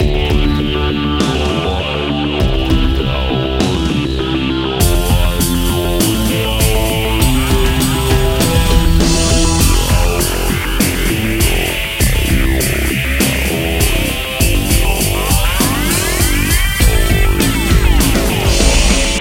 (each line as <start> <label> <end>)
0.0 Bass 19.2
0.0 Drums 19.2
6.3 Synth 13.0
15.0 Synth 19.2